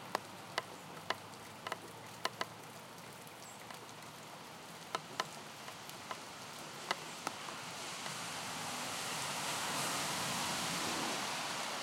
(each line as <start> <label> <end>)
0.0 Rain 11.8
5.0 traffic to come and go 11.8